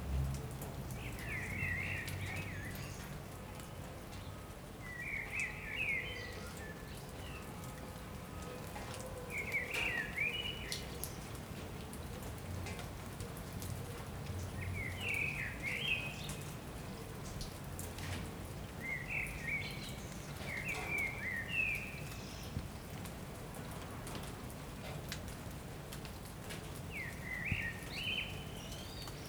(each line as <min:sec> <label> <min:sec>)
0:00.0 Sparse rain 0:29.2